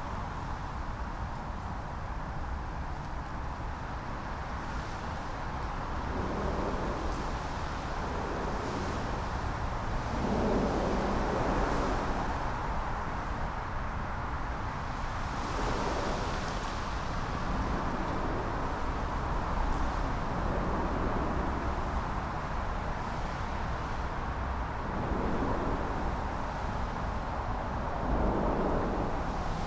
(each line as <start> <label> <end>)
0.0 cars traveling along road above 29.6